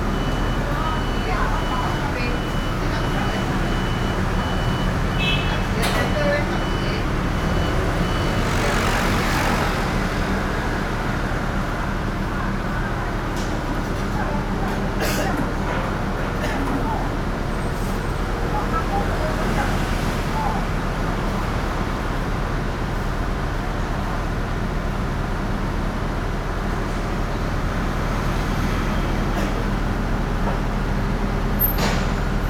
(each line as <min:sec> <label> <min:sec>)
0:00.0 Restaurant staff conversations sound 0:21.8
0:00.0 Traffic Noise 0:32.4